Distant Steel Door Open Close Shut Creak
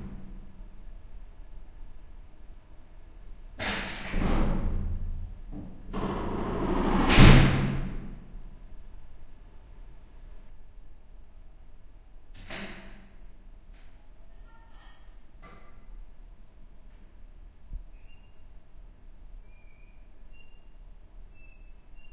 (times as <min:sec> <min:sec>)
0:03.6 0:08.2, 0:12.3 0:13.2, 0:17.9 0:18.6, 0:19.4 0:22.1